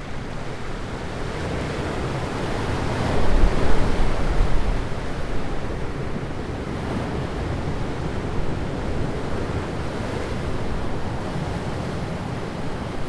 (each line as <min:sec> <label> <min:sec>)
0:00.1 Anne river enters the sea 0:13.0